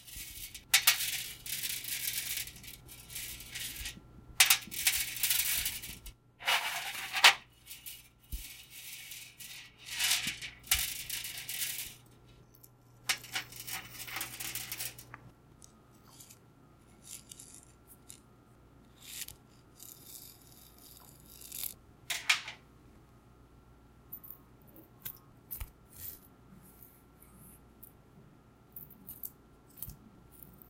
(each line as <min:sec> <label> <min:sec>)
0:00.0 necklace chain on metal table 0:15.2
0:15.9 necklace chain on metal table 0:22.6
0:28.6 necklace chain on metal table 0:30.6